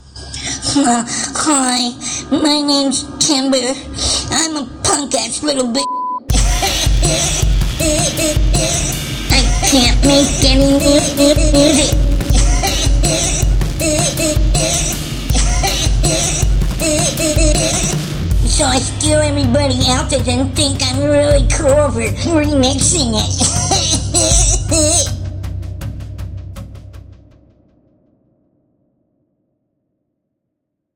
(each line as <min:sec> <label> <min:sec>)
0:06.2 drums 0:27.8